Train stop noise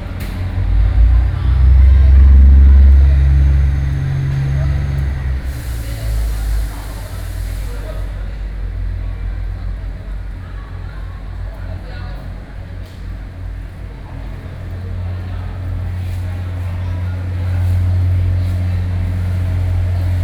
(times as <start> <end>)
0.0 9.1